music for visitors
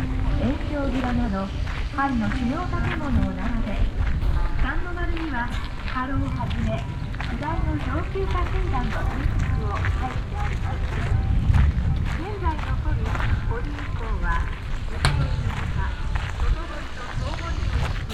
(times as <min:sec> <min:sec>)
0:00.0 0:12.2